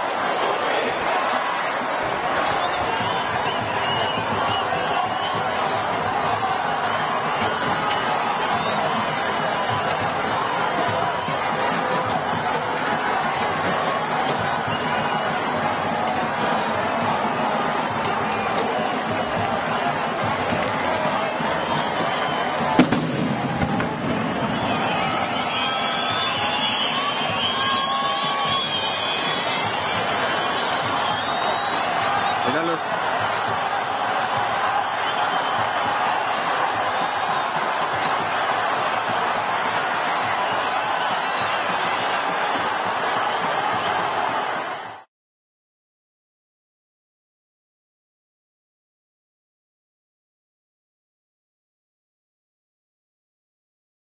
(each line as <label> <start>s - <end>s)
Demonstrations in the streets 0.0s - 45.1s
screams 21.6s - 44.9s